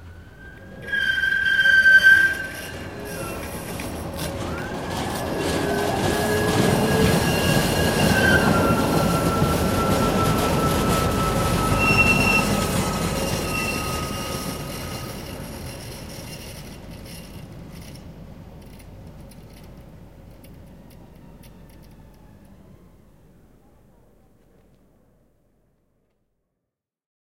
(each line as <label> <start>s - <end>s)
Squeaking tram arriving 0.0s - 25.4s